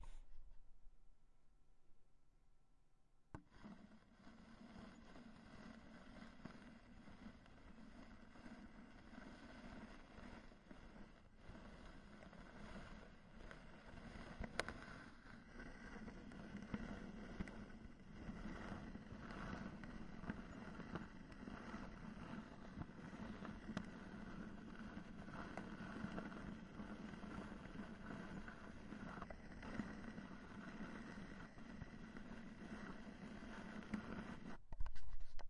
13.5s old record player 35.4s

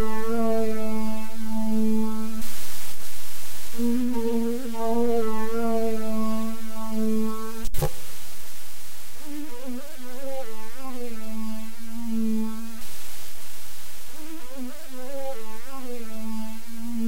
0.0s noise 17.0s

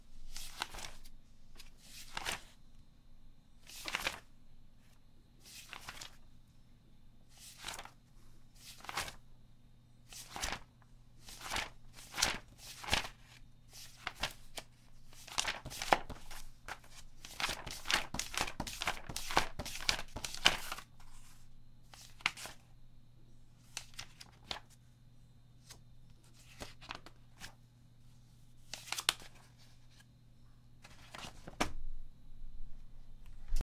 0.1s Turning pages in a magazine 2.6s
3.6s Turning pages in a magazine 6.3s
7.3s Turning pages in a magazine 9.3s
10.0s Turning pages in a magazine 22.7s
23.6s Turning pages in a magazine 24.9s
25.5s Turning pages in a magazine 30.2s
30.8s Turning pages in a magazine 31.8s

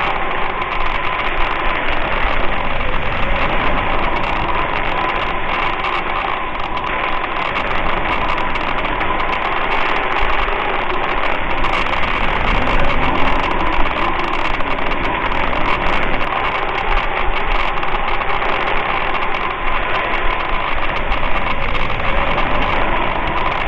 0.0s Geiger counter 23.6s
0.0s radio static 23.6s
0.0s wind 23.6s

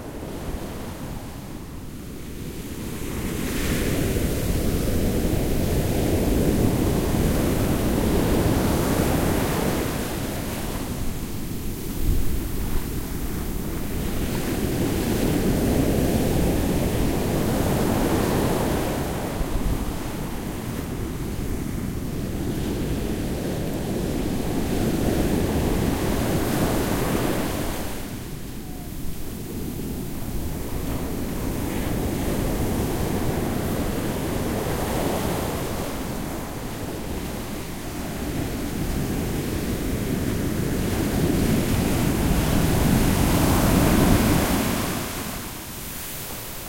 0.0s ocean 46.6s

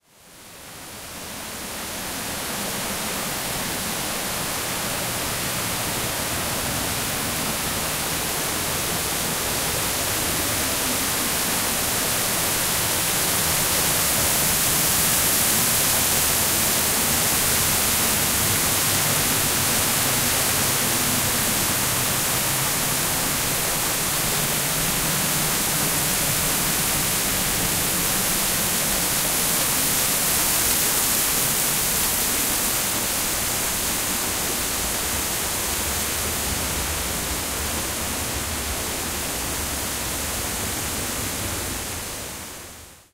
0.0s waterfall 43.1s

